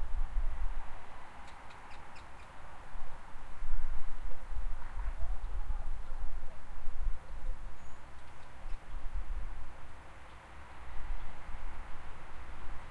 0.0s traffic noise 12.9s
0.0s wind 12.9s
1.4s bird song 2.6s
7.4s bird song 9.0s

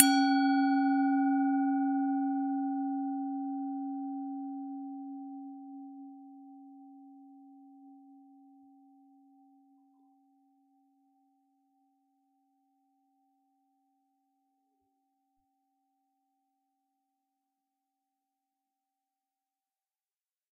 0.0s Tibetan bowl right hit 2.1s

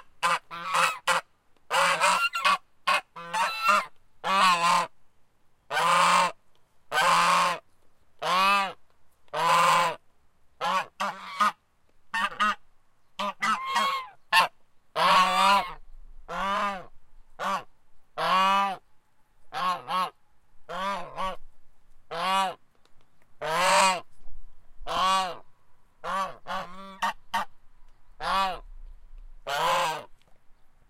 0.0s Goose 4.9s
5.7s Goose 7.6s
8.2s Goose 10.0s
10.6s Goose 12.6s
13.2s Goose 18.8s
19.5s Goose 21.4s
22.1s Goose 22.6s
23.4s Goose 24.1s
24.8s Goose 25.4s
26.0s Goose 27.5s
28.2s Goose 28.7s
29.4s Goose 30.1s

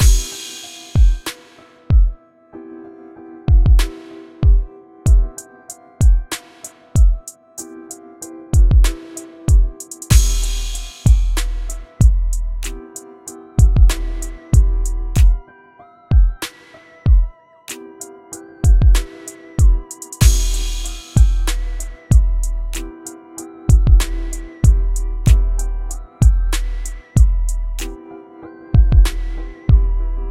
0.0s snare 1.9s
3.8s snare 4.4s
6.3s snare 7.0s
8.6s kick 10.4s
8.8s snare 12.0s
10.1s bass 12.8s
12.6s snare 13.0s
13.6s bass 15.4s
13.9s snare 14.6s
16.4s snare 17.1s
18.7s kick 20.5s
19.0s snare 19.5s
20.2s snare 22.1s
20.2s bass 22.9s
22.7s snare 23.1s
23.8s bass 28.0s
24.0s snare 24.7s
26.5s snare 27.2s
27.8s snare 28.0s
28.8s bass 30.3s
29.0s snare 29.6s

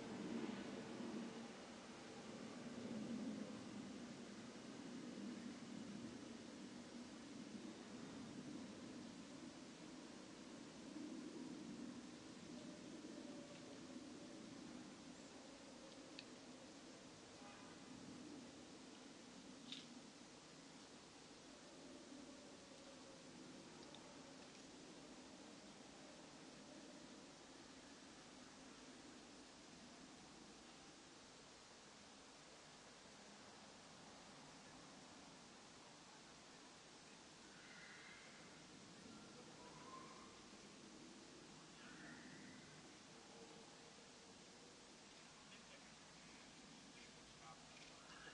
0.0s airplane 6.8s
45.5s voice 46.0s
46.9s voice 48.3s

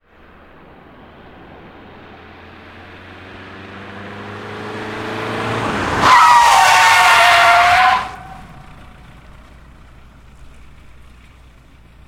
0.0s engine 12.0s
5.4s Brake Tyres Friction 11.7s

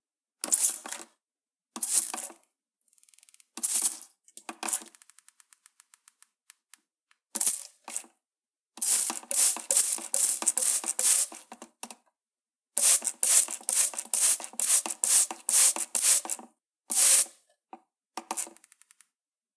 8.8s sprayer watering plant 11.8s
12.8s sprayer watering plant 17.4s

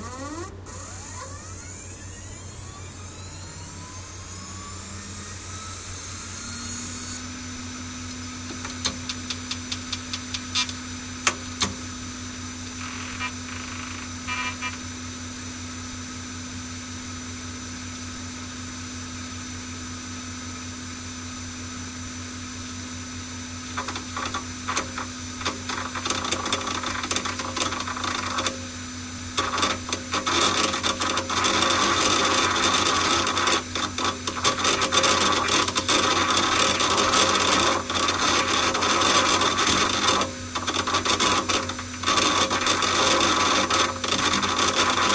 0.0s server hard drive 7.2s
23.8s server hard drive 45.1s

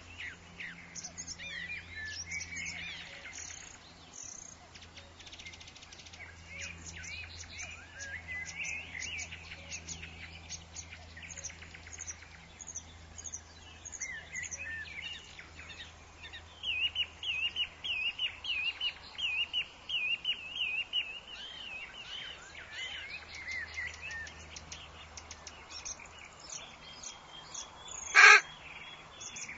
28.0s warblers 28.5s

